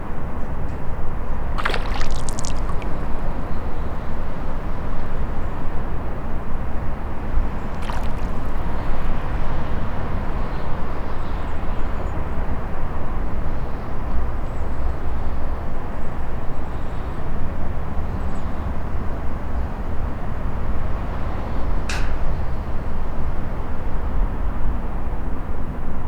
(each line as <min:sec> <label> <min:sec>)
0:01.6 floating blocks of ice 0:03.2
0:01.6 little bird practicing his diving skills in the cold water 0:03.4
0:07.5 little bird practicing his diving skills in the cold water 0:09.4
0:07.6 floating blocks of ice 0:09.2